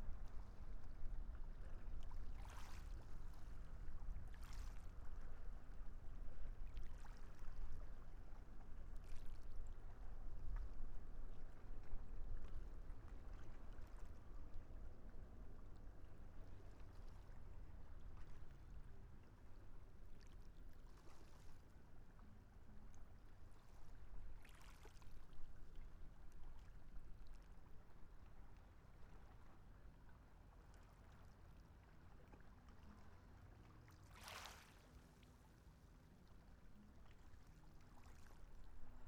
0.0s waves 39.0s

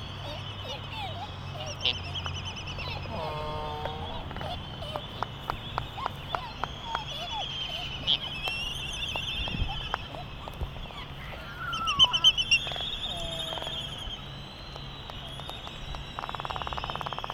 0.0s calls and bill clapperings 17.3s
0.0s canaries 17.3s
0.0s white terns 17.3s

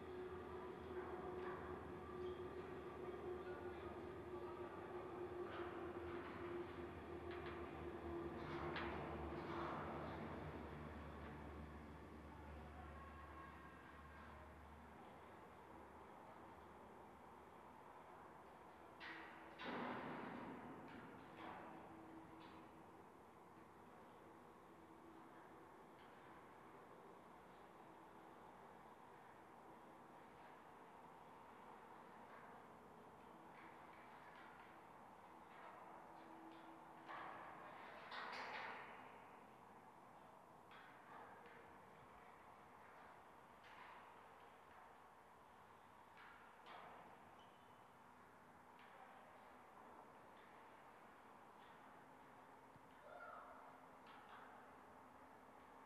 0.0s vibrations of trains passing 16.8s

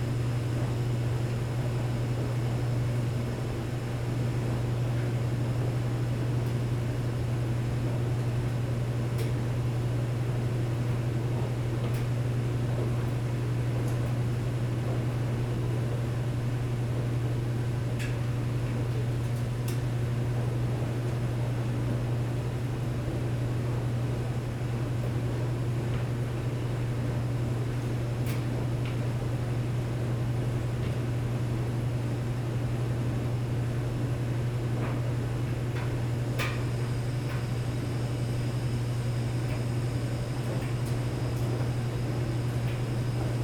0.0s noise from the HVAC system 43.4s

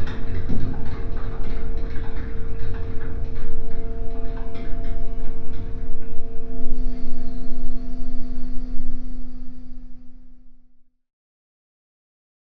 0.0s Ferry Engine Room 10.8s

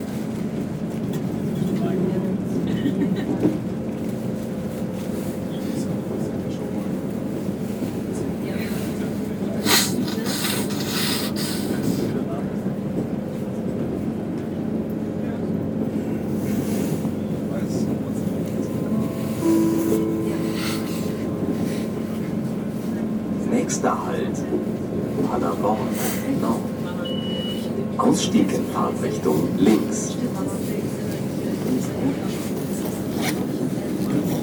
0.0s train 34.4s
17.1s announcement of the next stop 34.3s

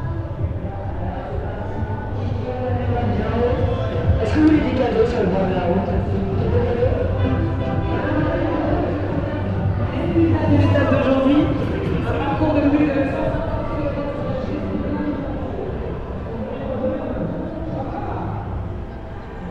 0.0s advertising and promotional vehicle cavalcade 19.5s

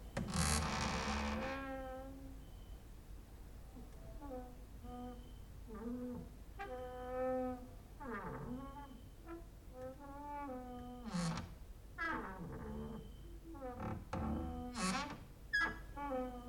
0.1s creaking with wooden doors 2.2s
4.2s creaking with wooden doors 16.4s

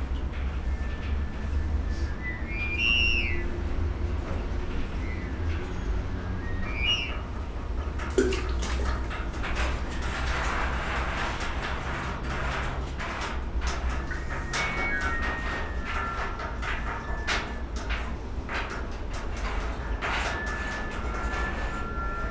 6.8s water drain action 11.3s

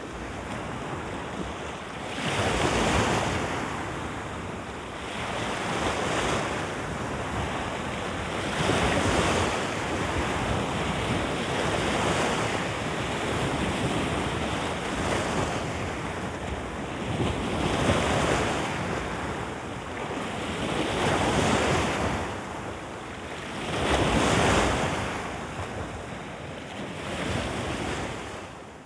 0.0s Lapping waves of the sea 28.8s

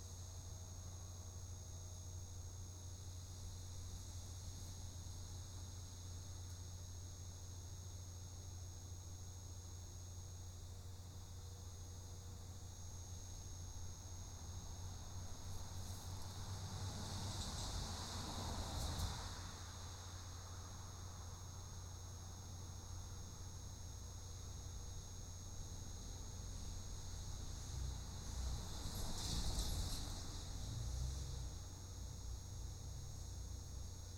0.0s electric bug light that killed a couple bugs 19.3s
16.1s cars 20.2s
21.0s electric bug light that killed a couple bugs 34.1s

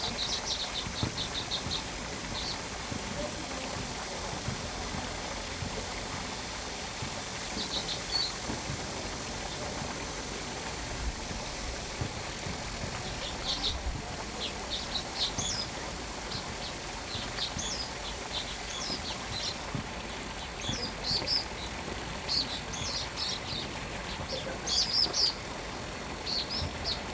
0.0s Cicadas 27.1s
0.0s Stream 27.1s

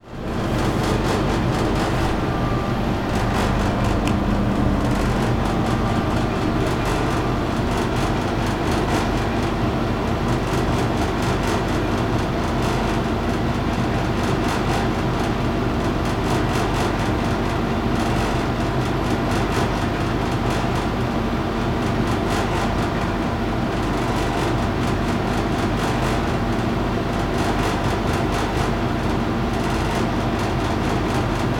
0.1s growling of a snacks vending machine 8.8s

